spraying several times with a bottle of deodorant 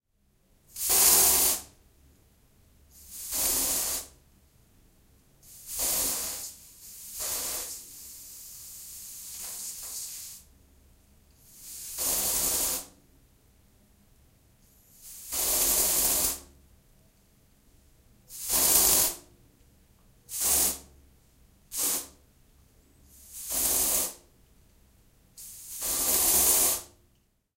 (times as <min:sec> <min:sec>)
0:00.7 0:01.7, 0:02.9 0:04.2, 0:05.4 0:10.5, 0:11.4 0:13.0, 0:14.6 0:16.5, 0:18.3 0:19.2, 0:20.3 0:20.9, 0:21.7 0:22.2, 0:23.1 0:24.2, 0:25.4 0:27.0